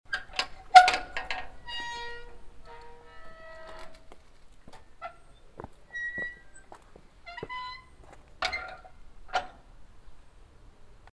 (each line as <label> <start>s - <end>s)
opening and closing of the iron door 0.1s - 4.1s
opening and closing of the iron door 4.7s - 9.7s